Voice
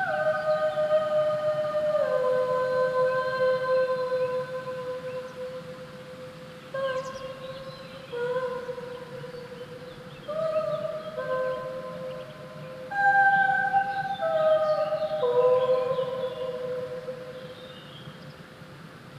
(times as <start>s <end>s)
12.9s 16.2s